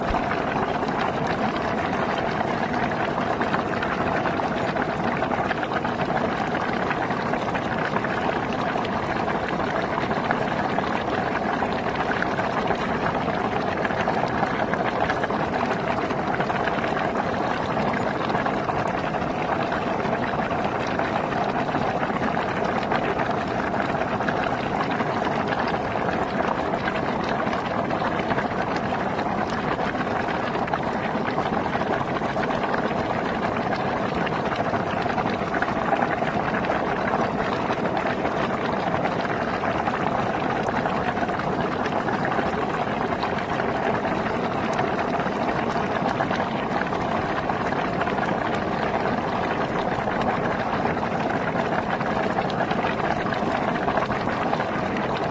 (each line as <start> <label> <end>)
0.0 fast bubbling from a sulphur, bad-smelling hot spring 55.3